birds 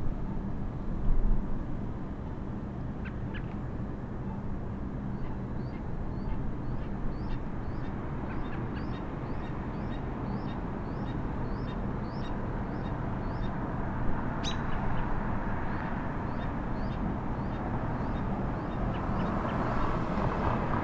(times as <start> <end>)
5.1 13.6, 14.2 20.7